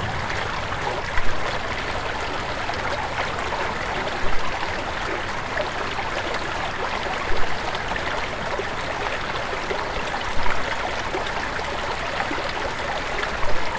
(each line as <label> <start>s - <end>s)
Creek 0.0s - 13.7s